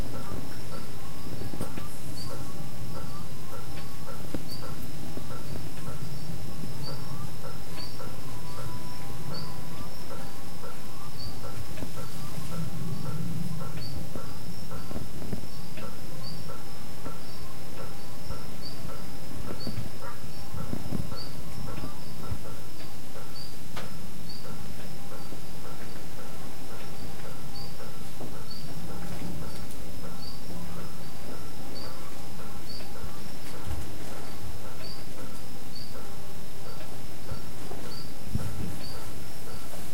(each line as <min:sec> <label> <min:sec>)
0:00.0 Crickets far away 0:39.9